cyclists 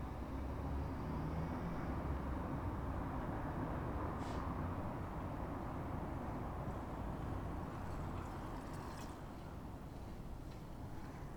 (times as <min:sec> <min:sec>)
0:06.7 0:11.3